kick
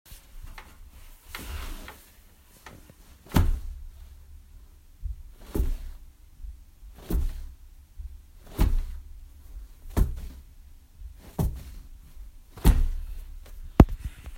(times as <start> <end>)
3.2 4.2, 5.0 14.2